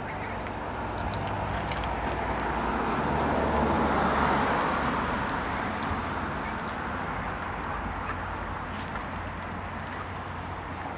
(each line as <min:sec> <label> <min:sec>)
0:00.0 Ducks eating in the water 0:10.9
0:00.0 cars 0:10.9